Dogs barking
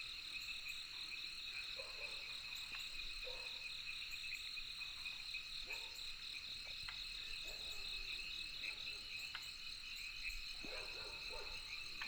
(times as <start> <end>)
10.6 11.7